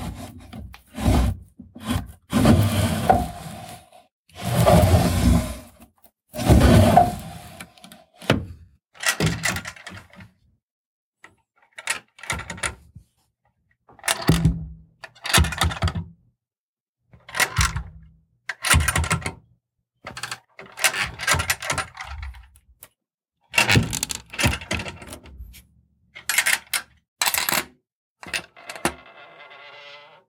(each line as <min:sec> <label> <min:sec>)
0:00.0 Dresser Drawers Open and Close 0:03.8
0:04.4 Dresser Drawers Open and Close 0:05.7
0:06.4 Dresser Drawers Open and Close 0:07.6